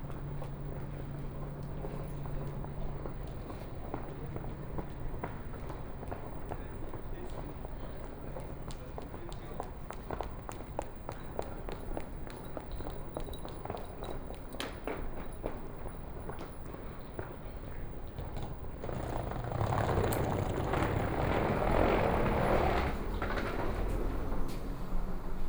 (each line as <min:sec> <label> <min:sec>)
0:18.2 Walking 0:25.4